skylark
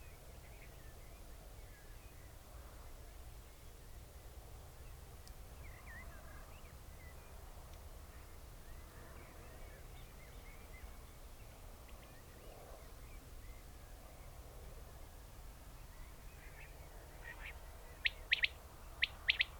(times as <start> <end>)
17.2 19.5